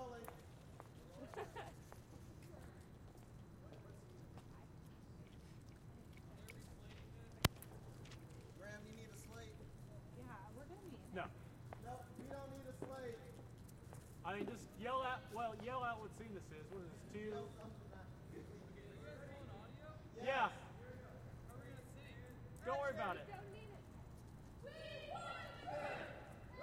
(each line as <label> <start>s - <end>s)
Crowd 24.6s - 26.6s